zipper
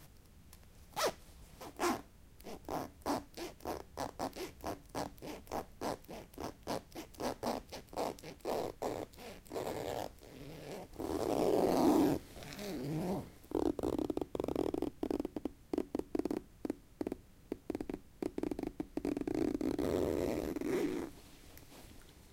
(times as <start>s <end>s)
0.9s 15.2s, 18.3s 21.2s